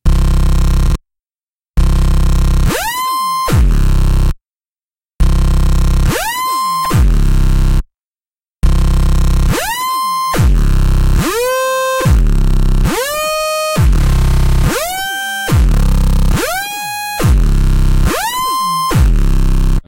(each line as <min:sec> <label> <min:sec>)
0:12.9 short synth phrase 0:19.2